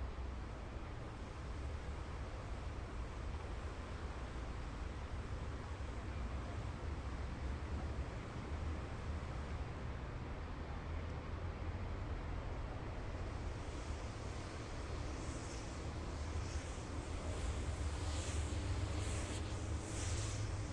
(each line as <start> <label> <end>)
0.0 train 20.7
13.1 workers are washing bridge 20.7